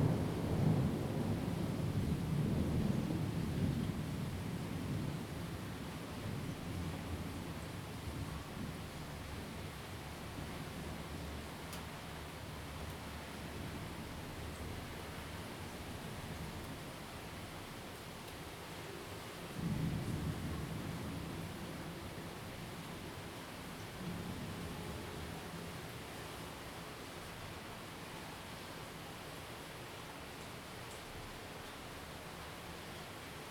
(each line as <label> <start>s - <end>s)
rain 0.0s - 33.5s
wind 0.0s - 33.5s